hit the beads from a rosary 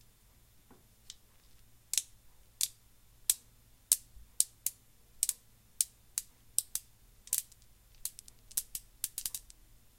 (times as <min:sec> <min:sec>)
0:01.9 0:09.6